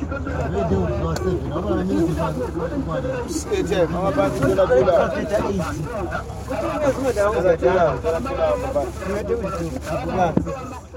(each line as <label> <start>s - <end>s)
bus leaving Entumbane rank 0.0s - 10.9s